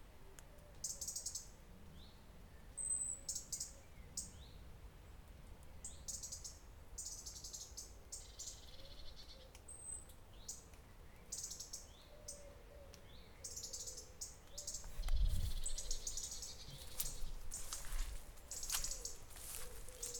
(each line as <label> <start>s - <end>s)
birds in the trees 0.0s - 20.1s
Walking through some dry grass 14.7s - 20.1s